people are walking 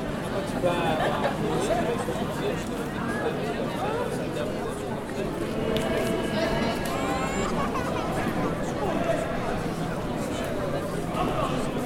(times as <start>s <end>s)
4.7s 11.8s